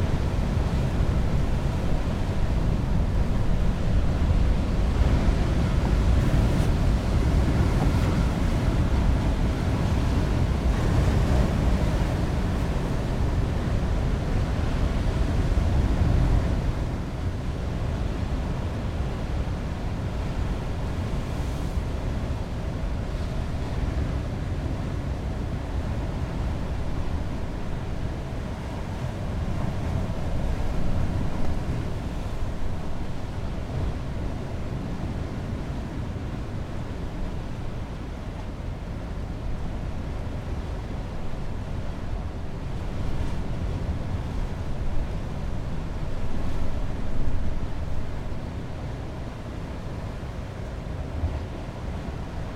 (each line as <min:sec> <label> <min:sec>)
0:00.0 Heavy waves and Sea - distant rumble 0:52.5